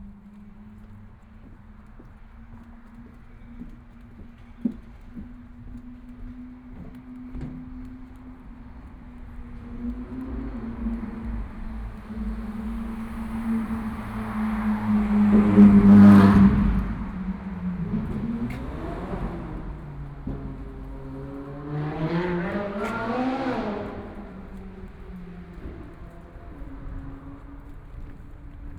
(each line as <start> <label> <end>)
0.0 walking in the Street 28.7